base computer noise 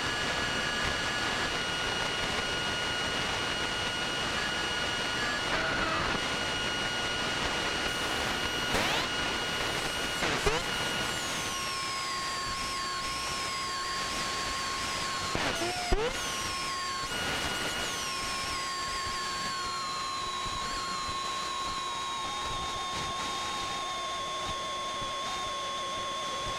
4.2 9.2

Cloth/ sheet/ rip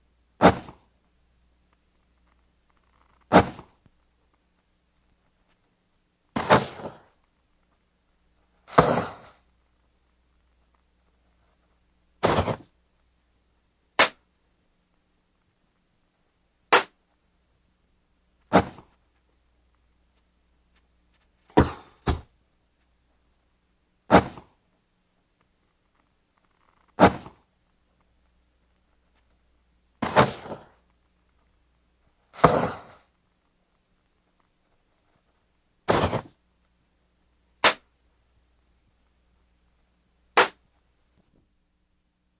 6.4 7.0, 8.7 9.4, 12.2 12.7, 32.4 33.0, 35.9 36.4, 37.6 37.8, 40.4 40.6

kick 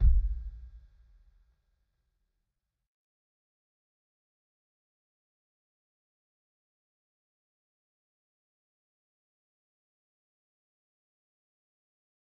0.0 0.8

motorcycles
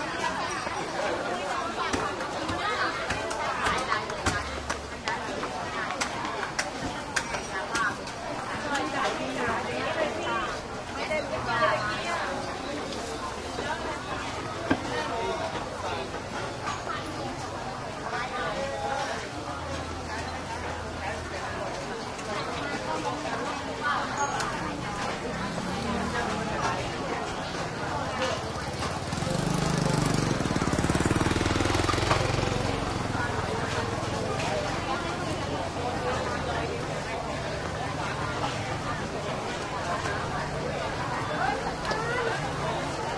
24.0 43.1

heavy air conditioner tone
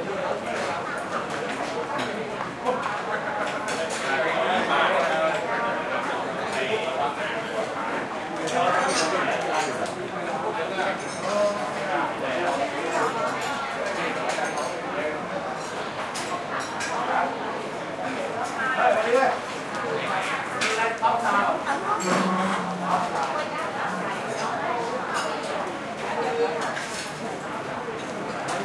20.9 25.1

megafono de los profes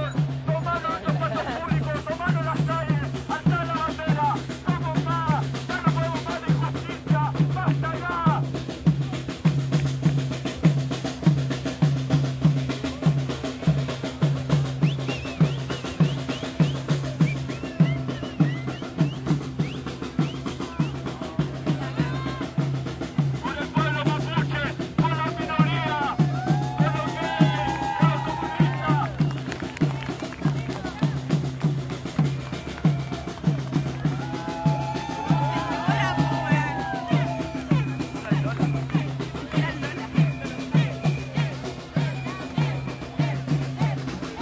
32.1 44.4

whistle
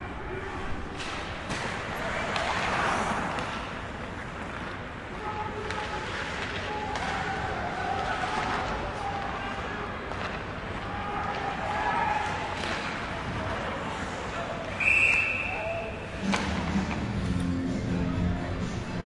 14.8 16.0

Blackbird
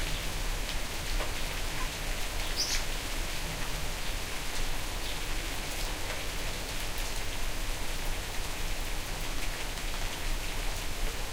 1.8 2.8

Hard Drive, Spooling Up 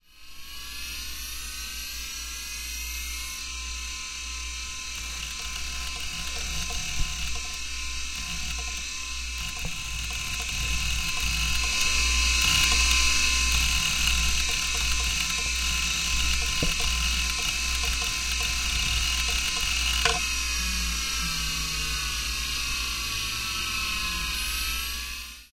4.4 24.3

